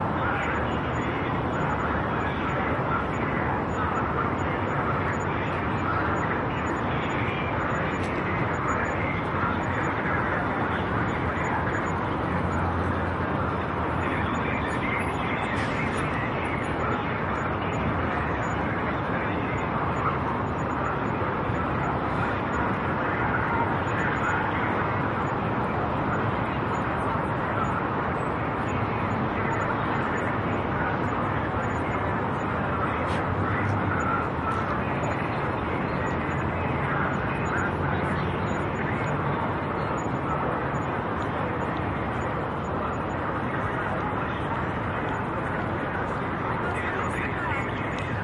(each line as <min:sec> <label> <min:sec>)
0:00.0 Sombody in the distance is making some announcement 0:48.2
0:00.0 people 0:48.2